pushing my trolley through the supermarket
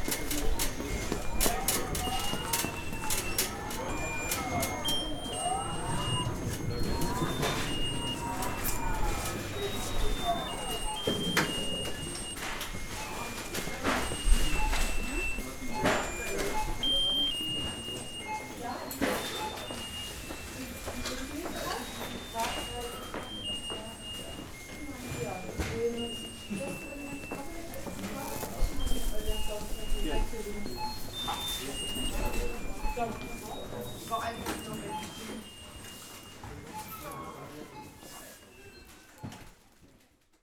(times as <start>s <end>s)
0.0s 24.2s